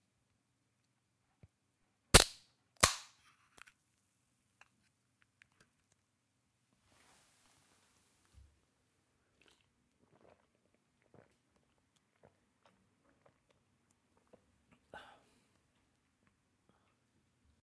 drink 0:09.2 - 0:15.2

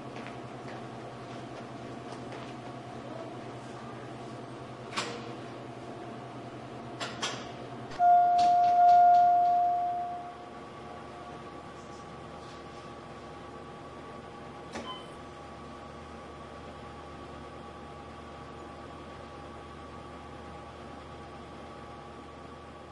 Hospital Waiting Room noise 0:07.9 - 0:14.8

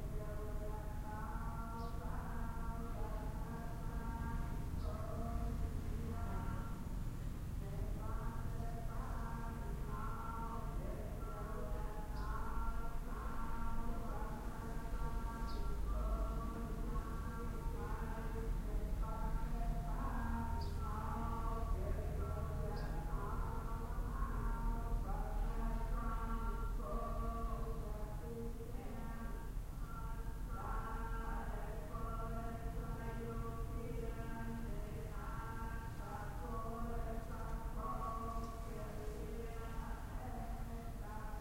Buddhist Chanting 0:00.0 - 0:06.9
Buddhist Chanting 0:07.6 - 0:41.4

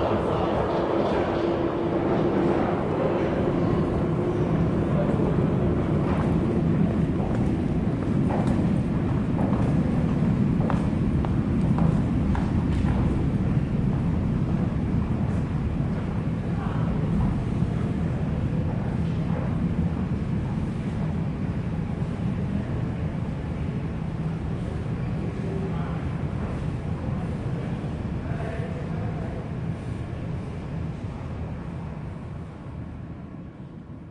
tube train arrives and leaves 0:00.0 - 0:34.1

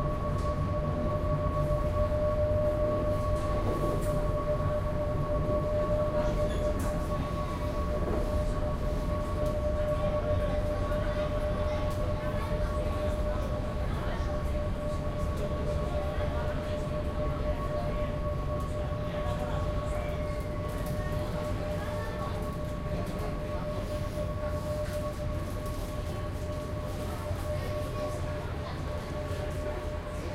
Ferry engine room 0:00.0 - 0:30.3

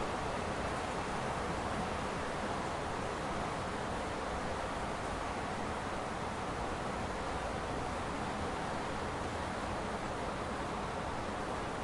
Rain 0:00.0 - 0:11.8

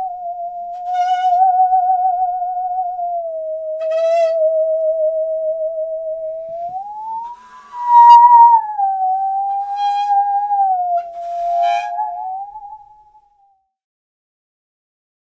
Musical Saw 0:03.8 - 0:04.4
Musical Saw 0:09.4 - 0:12.8

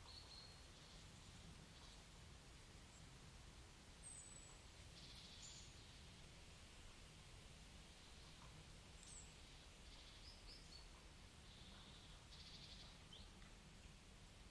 birds singing 0:00.0 - 0:02.1
birds singing 0:04.0 - 0:06.1
birds singing 0:09.0 - 0:13.5

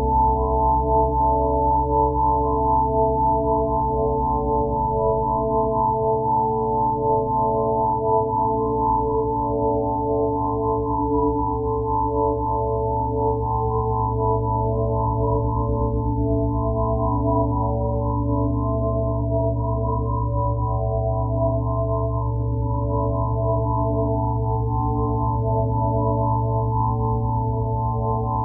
pure ambient sine wave 0:00.0 - 0:28.4

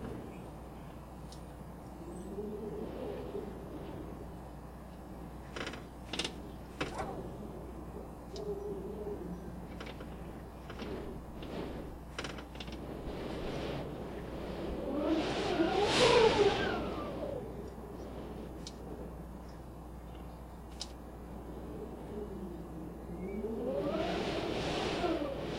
Wind Cracked Window 0:00.0 - 0:25.5
creaking 0:05.4 - 0:07.9
creaking 0:09.4 - 0:18.8

